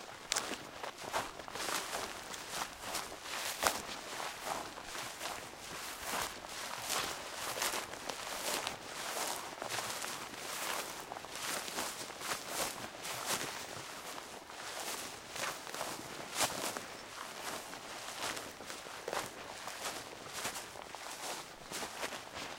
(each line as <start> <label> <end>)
0.0 walking on drying herbs 22.5